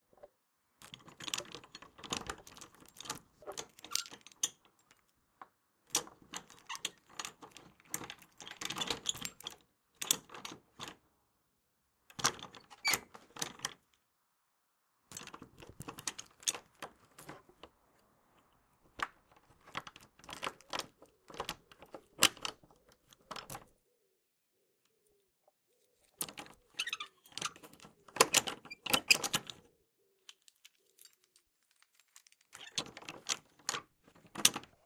0.1s medium-duty padlock for my old shed being handled 11.1s
12.0s medium-duty padlock for my old shed being handled 14.1s
15.0s medium-duty padlock for my old shed being handled 34.8s

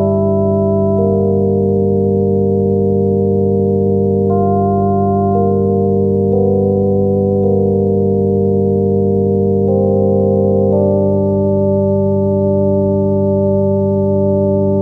0.0s keyboard with built-in FM-synthesizer 14.8s

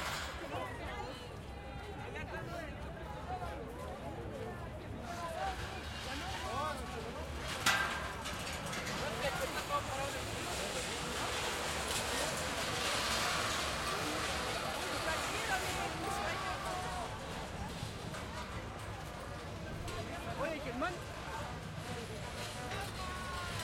0.0s crowd 23.6s
4.9s pirotecnia aplaudida 23.6s

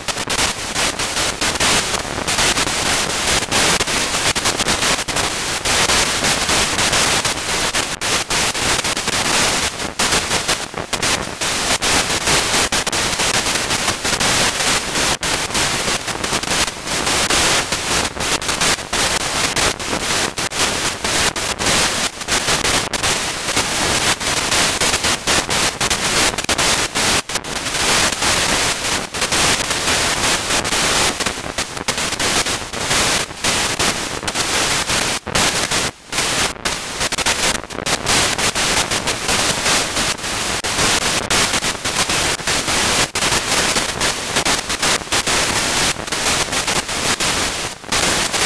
0.0s Static sputtering noises 48.4s

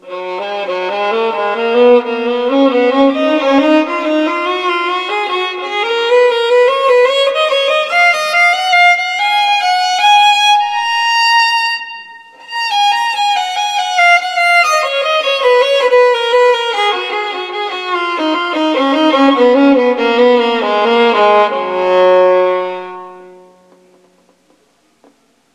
0.0s Baroque Phrases on Violin 8.9s

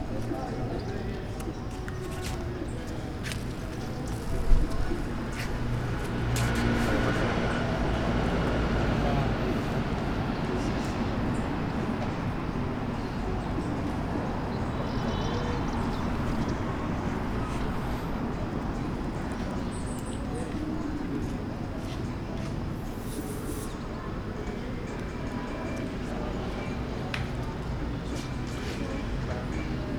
0.0s Humans 29.9s
0.1s Steps 7.4s

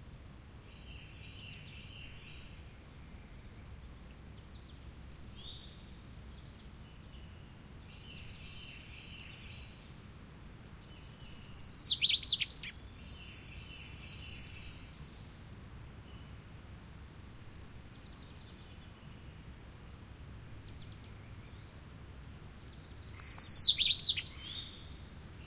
10.7s bird calls 12.7s
22.4s bird calls 24.9s

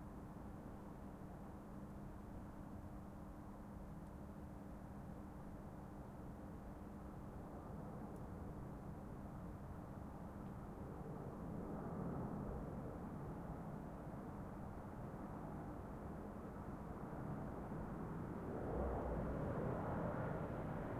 0.0s train 10.6s
9.3s plane passes by close 20.9s
17.2s traffic 20.9s
17.4s ambulance on the distance 20.9s

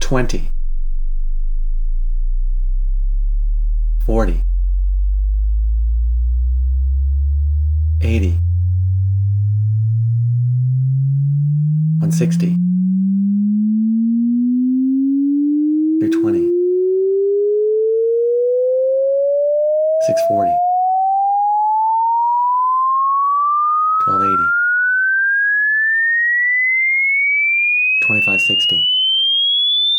0.0s my voice calling out certain key frequencies 0.5s
4.0s my voice calling out certain key frequencies 4.4s
8.0s my voice calling out certain key frequencies 8.4s
12.0s my voice calling out certain key frequencies 12.6s
16.0s my voice calling out certain key frequencies 16.5s
20.0s my voice calling out certain key frequencies 20.6s
24.0s my voice calling out certain key frequencies 24.5s
28.0s my voice calling out certain key frequencies 28.9s

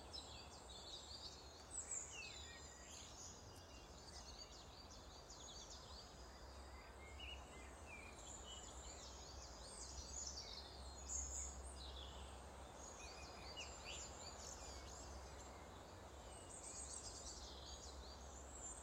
0.0s Birdsong 18.8s

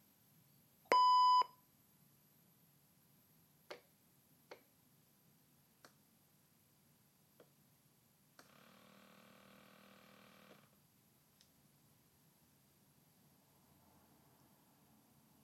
0.9s Beeps 1.5s

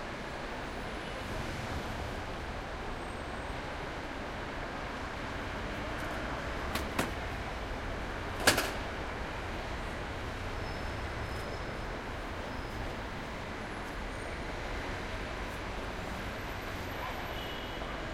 0.0s cars 18.1s

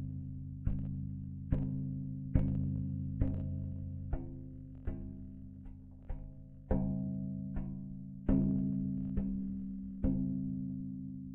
0.0s Softly tapping a piece of sheet metal 11.3s

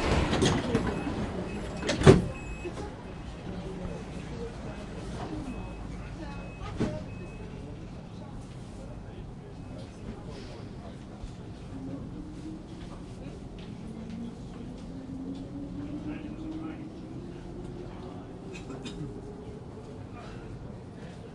0.0s train 21.3s

